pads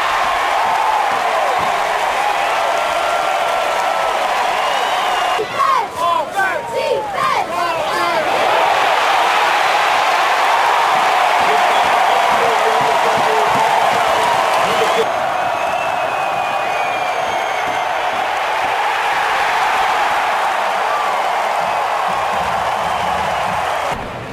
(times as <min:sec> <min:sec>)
0:11.0 0:15.1